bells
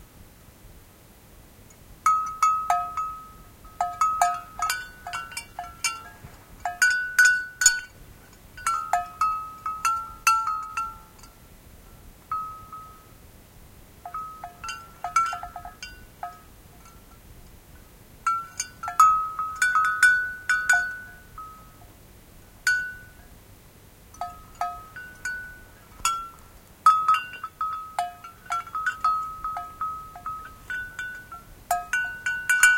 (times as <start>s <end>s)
2.1s 11.4s, 12.3s 13.2s, 14.1s 17.2s, 17.8s 21.9s, 24.1s 32.7s